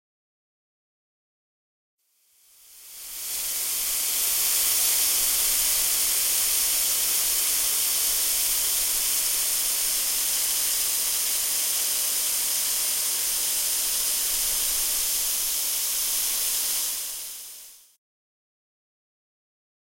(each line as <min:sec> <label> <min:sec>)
0:02.3 iron 0:18.0